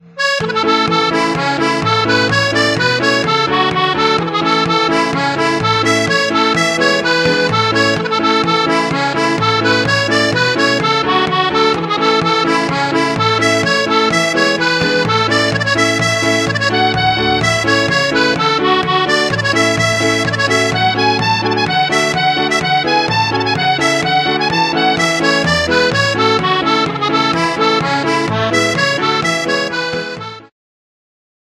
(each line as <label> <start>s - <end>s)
Piano Accordion 0.0s - 30.5s
Accordina (Harmonicon) 0.0s - 30.5s
Anglo Concertina 0.0s - 30.5s
Harmonica Natural 0.0s - 30.5s
Melodica (Pianica) 0.0s - 30.5s